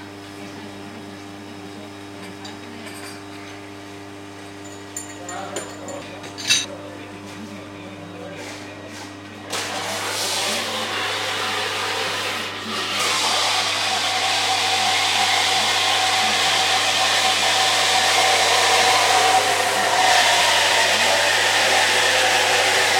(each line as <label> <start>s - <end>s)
espresso machine 0.0s - 22.9s
dishes 4.6s - 6.8s
television in the background 5.3s - 22.9s